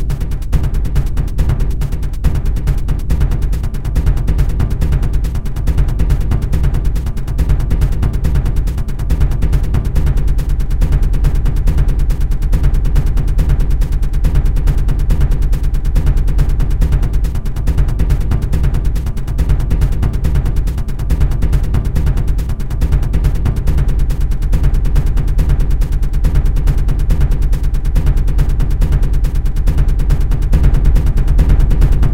bassdrum acoustic 0:00.0 - 0:32.1

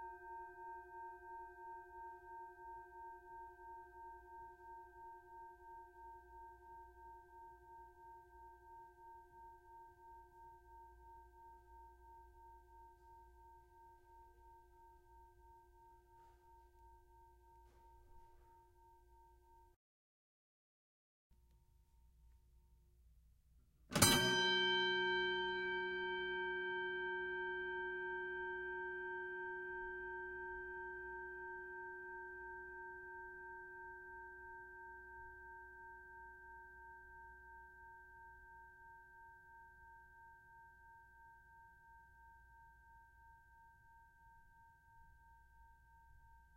Boxing bell, various rings dings pulses close distant 0:24.0 - 0:29.0

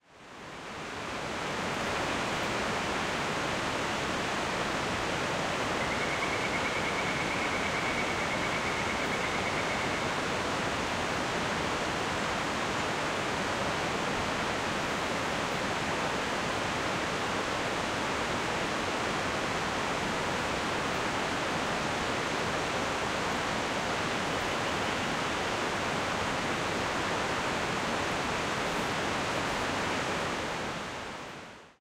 Distant Waterfall 0:00.0 - 0:31.8

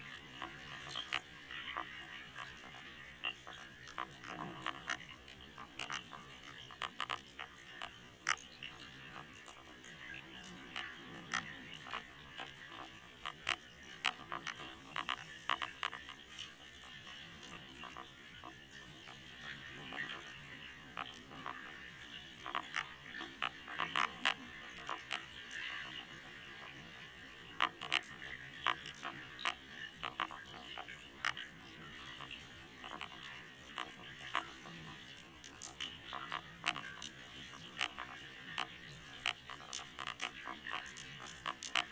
Dolphin 0:00.0 - 0:41.9

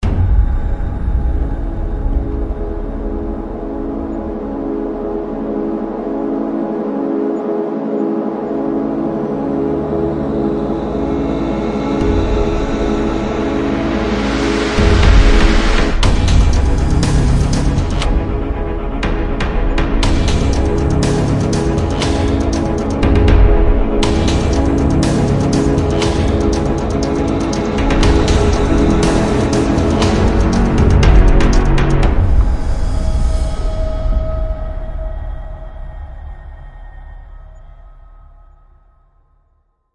orchestra 0:02.3 - 0:35.0

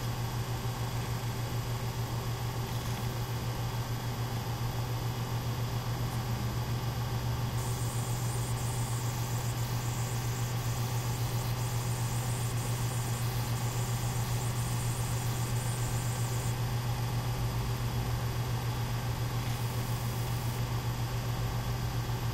hard drive 0:07.5 - 0:16.6
hard drive 0:19.3 - 0:20.6

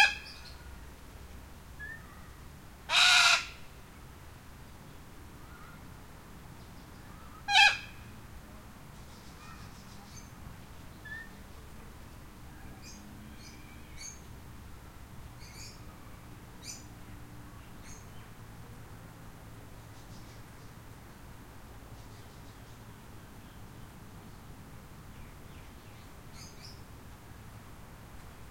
lone cockatoo calling 0:00.0 - 0:00.6
lone cockatoo calling 0:02.9 - 0:03.6
lone cockatoo calling 0:07.3 - 0:08.1

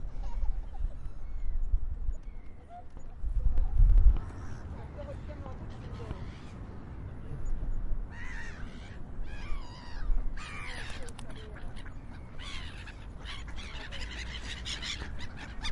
gulls 0:08.1 - 0:15.7

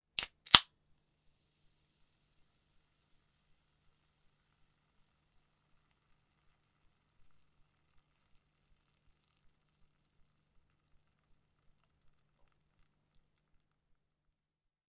Pepsi can being opened 0:00.2 - 0:00.6

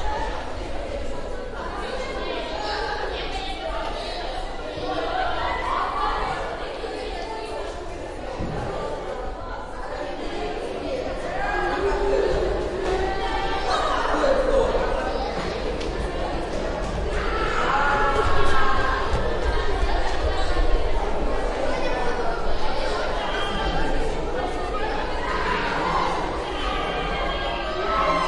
children 0:00.0 - 0:28.2

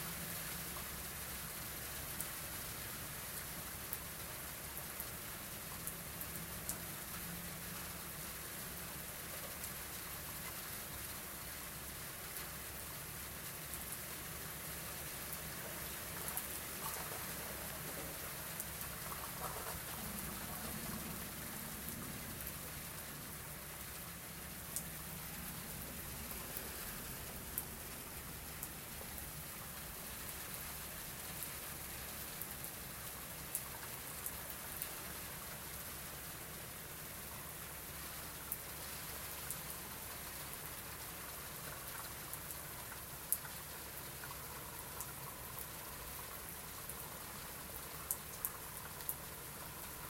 Rain 0:00.0 - 0:50.0

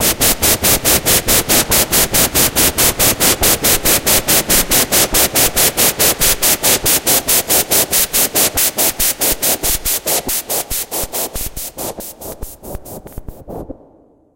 noise falling 0:09.1 - 0:14.3

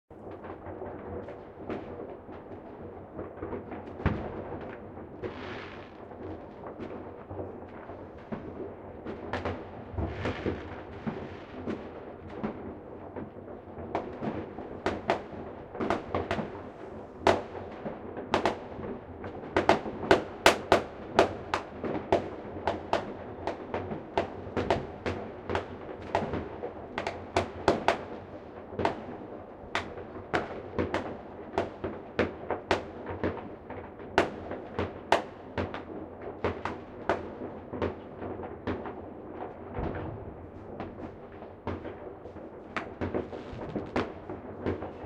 Fireworks 0:00.2 - 0:45.0
rockets 0:03.8 - 0:23.0
rockets 0:38.7 - 0:45.0

